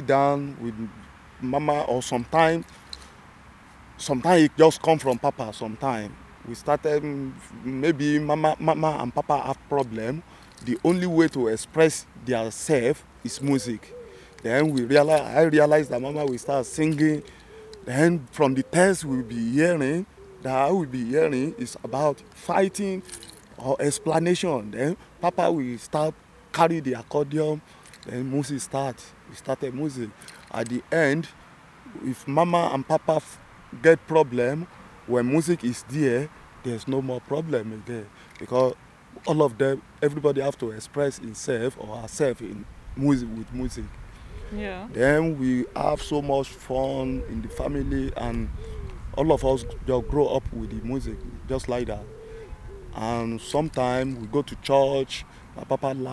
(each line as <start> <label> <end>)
12.3 talking 27.0
44.5 talking 48.5